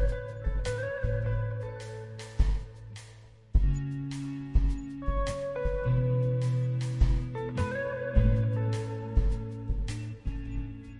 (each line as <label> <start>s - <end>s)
drums 0.0s - 10.9s
guitar 0.0s - 10.9s